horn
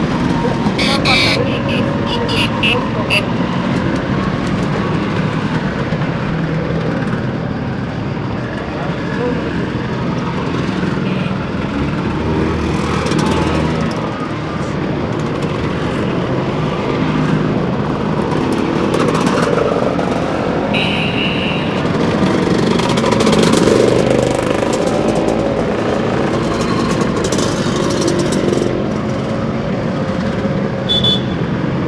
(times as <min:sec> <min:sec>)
0:00.8 0:03.3